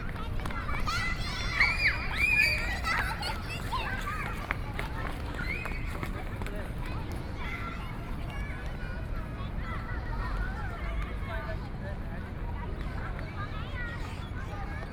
Child 0:00.0 - 0:05.8

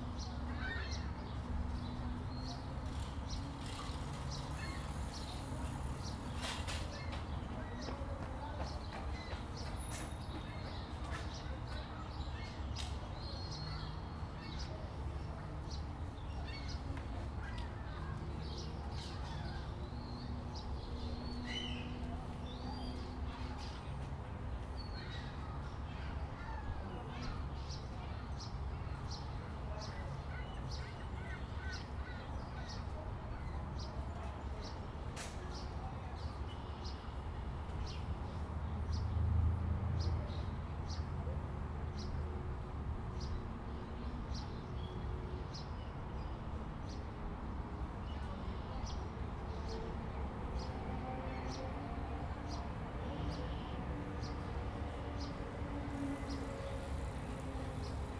nearby highway 0:00.0 - 0:12.1
Bikes 0:00.0 - 0:40.0
boats 0:00.0 - 0:41.8
nearby highway 0:35.1 - 0:58.1
Bikes 0:47.8 - 0:58.1

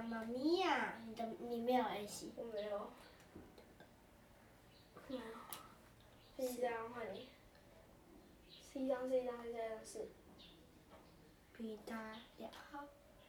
Kids playing cards 0:04.9 - 0:07.7

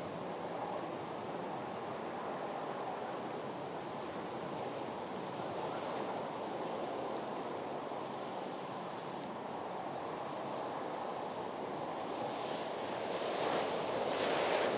wind 0:11.7 - 0:14.7

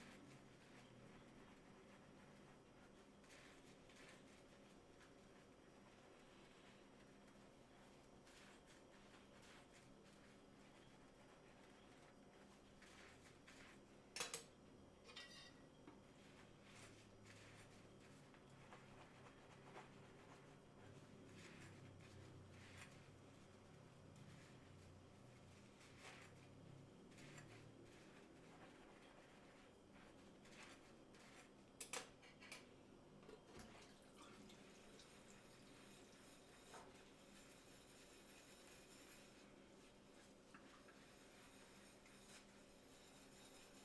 humming of the refrigerator 0:00.0 - 0:43.8
silverware being handled and scrubbed 0:13.0 - 0:15.7
Dish washing 0:33.2 - 0:39.4
sink sound 0:33.2 - 0:43.8

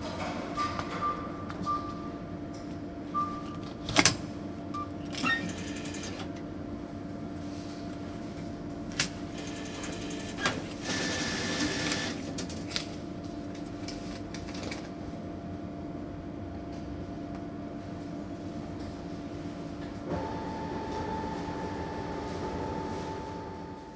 cash machine 0:05.2 - 0:06.3
cash machine 0:09.0 - 0:12.6
cash machine 0:20.1 - 0:23.9

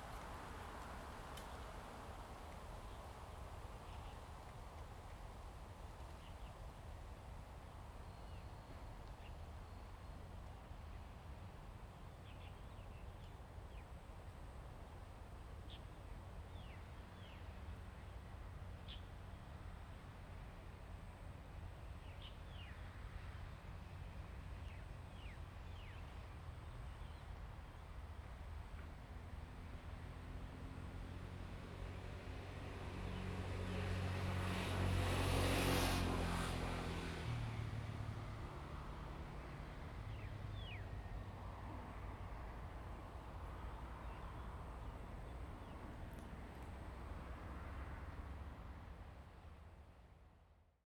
Wind 0:00.0 - 0:50.8

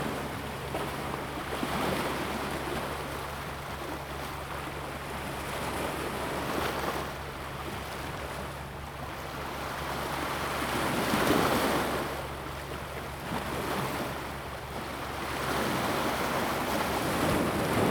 Waves 0:00.0 - 0:17.9

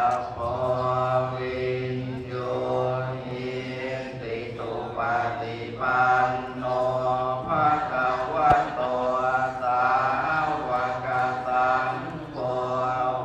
prayers 0:00.0 - 0:13.2

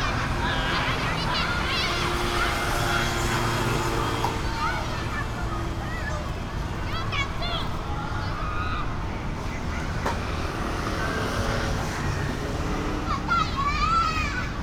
Students are playing games 0:00.0 - 0:14.6

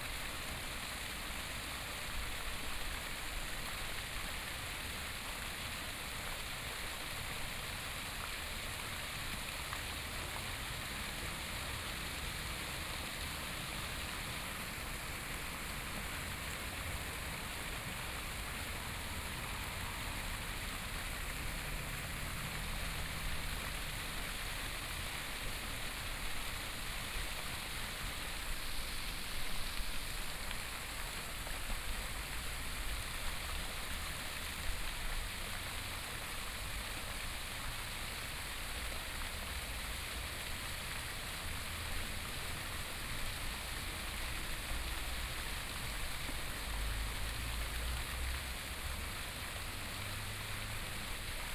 Fountain 0:00.0 - 0:51.5
Traffic Sound 0:11.4 - 0:25.8
Traffic Sound 0:42.5 - 0:51.5

